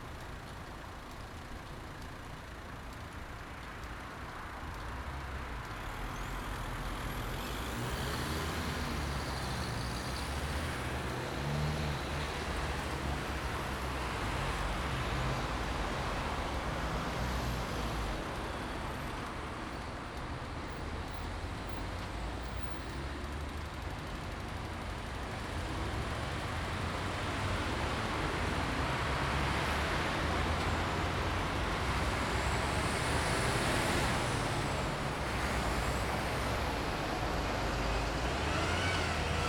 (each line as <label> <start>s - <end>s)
traffic 0.0s - 39.4s